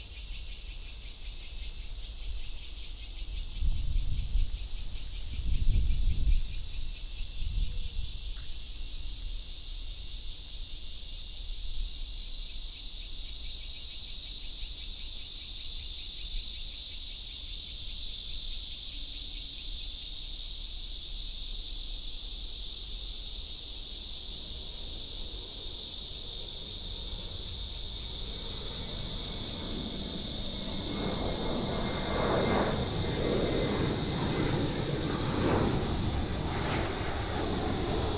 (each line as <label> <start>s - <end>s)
Cicada cry 0.0s - 38.1s
The plane took off 24.1s - 38.1s
MRT train passes 26.4s - 35.2s